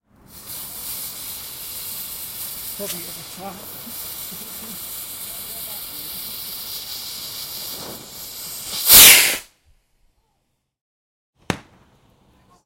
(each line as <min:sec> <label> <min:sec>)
0:00.2 Ignite fuze 0:09.5